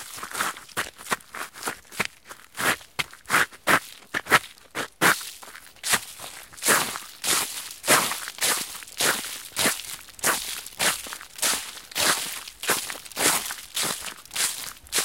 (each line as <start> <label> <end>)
5.2 crunchy step walking leafes 15.0